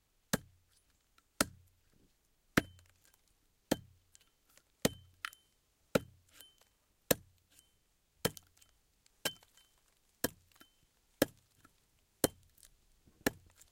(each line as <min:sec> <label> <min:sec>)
0:00.3 Axe Chop 0:00.5
0:01.4 Axe Chop 0:01.7
0:02.6 Axe Chop 0:02.9
0:03.7 Axe Chop 0:04.0
0:04.8 Axe Chop 0:07.3
0:08.2 Axe Chop 0:08.6
0:09.2 Axe Chop 0:09.6
0:10.2 Axe Chop 0:10.6
0:11.2 Axe Chop 0:11.5
0:12.2 Axe Chop 0:13.7